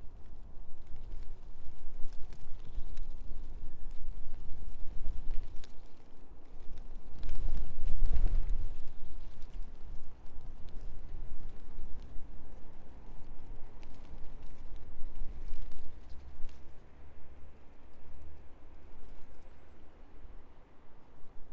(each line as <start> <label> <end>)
0.0 wind moving through the ivy 21.5